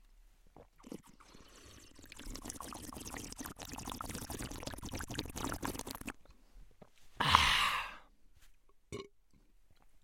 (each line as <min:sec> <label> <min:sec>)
0:00.6 Male slurping some water 0:06.2
0:08.9 small burp 0:09.2